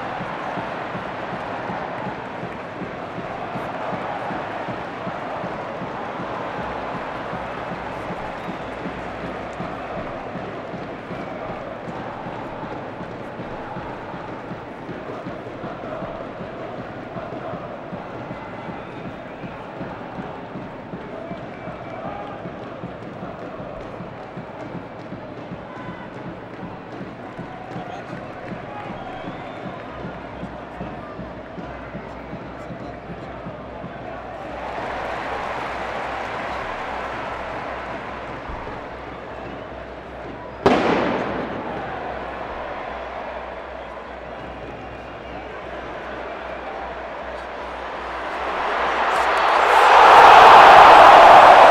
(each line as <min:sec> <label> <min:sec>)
0:00.0 Soccer match 0:51.7